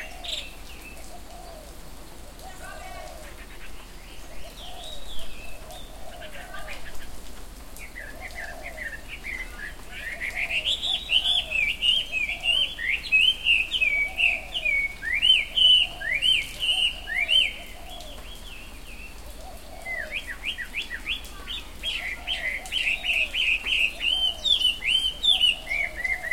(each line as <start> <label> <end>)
0.0 soft rain 26.3